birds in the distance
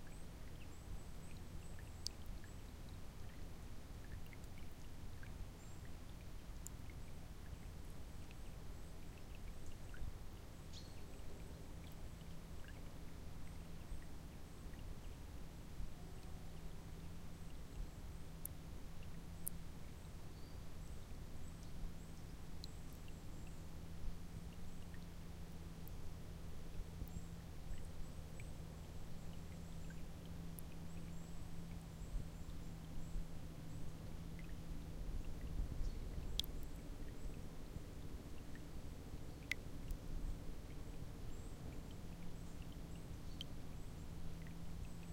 0.0 4.2, 7.0 12.9, 19.0 25.0, 27.0 37.4

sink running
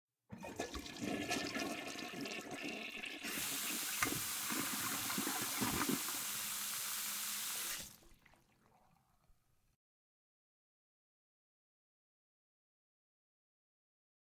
0.4 8.2

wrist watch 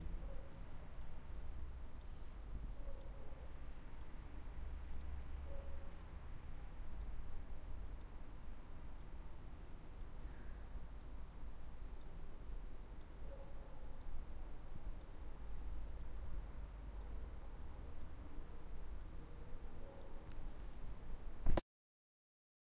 0.0 4.2, 10.0 20.9

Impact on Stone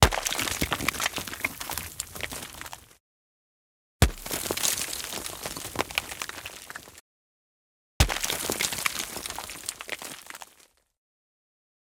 0.0 2.7, 4.0 6.9, 8.0 10.6

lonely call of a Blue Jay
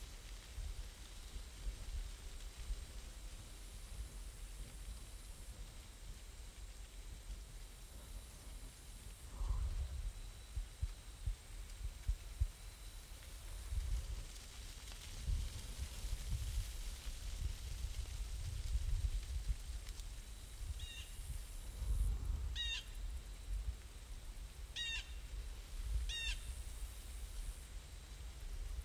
20.8 21.1, 22.6 23.0, 24.8 25.2, 26.1 26.5

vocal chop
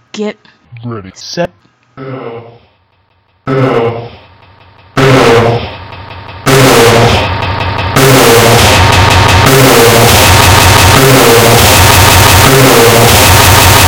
2.0 2.7, 3.4 4.2, 5.0 5.8, 6.4 7.4

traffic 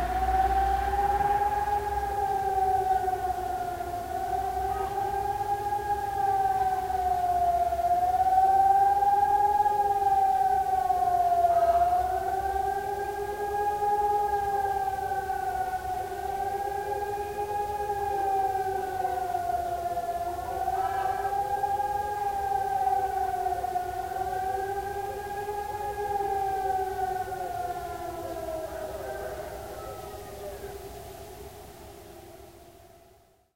0.0 7.6

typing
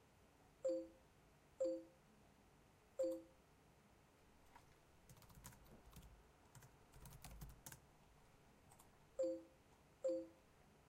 5.1 7.8

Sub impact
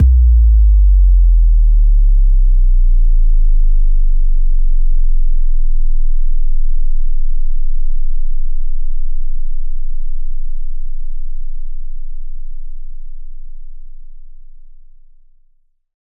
0.0 1.5

